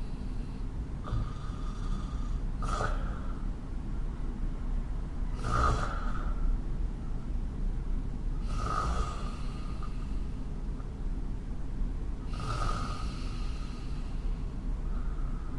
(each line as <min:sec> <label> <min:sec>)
0:00.0 breath 0:03.5
0:05.6 breath 0:06.5
0:08.4 breath 0:10.4
0:12.3 breath 0:15.5